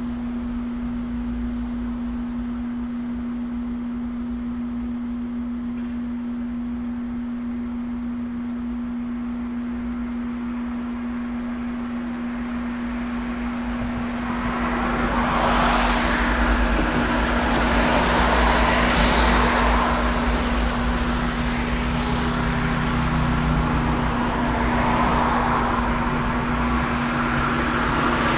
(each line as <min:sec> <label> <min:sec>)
0:12.0 car 0:28.3
0:12.2 motorcycle 0:28.3